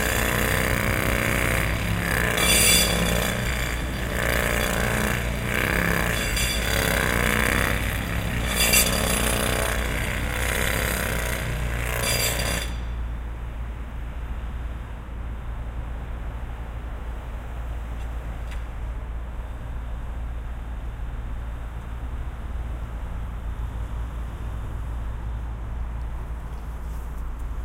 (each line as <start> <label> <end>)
0.0 jackhammer 13.0